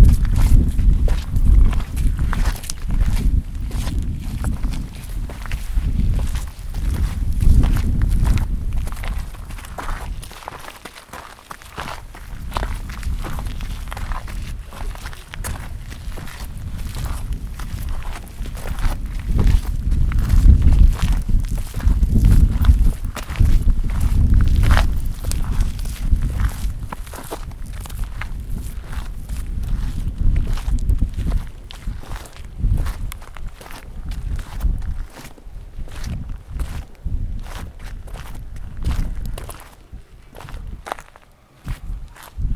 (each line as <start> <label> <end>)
0.0 Walking downhill on a stony trail 42.5